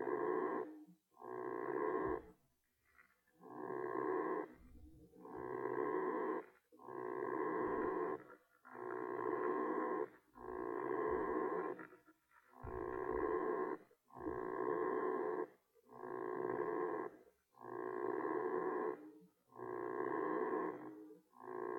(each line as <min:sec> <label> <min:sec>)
0:05.3 underwater creature 0:15.4